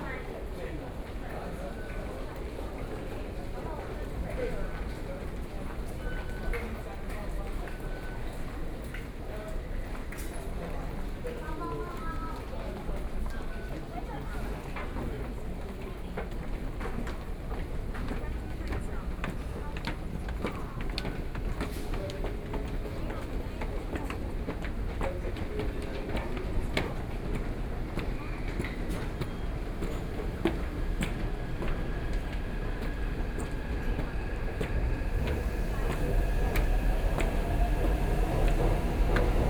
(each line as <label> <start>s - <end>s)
walking on the Road 28.0s - 39.4s
Traffic Sound 28.4s - 39.4s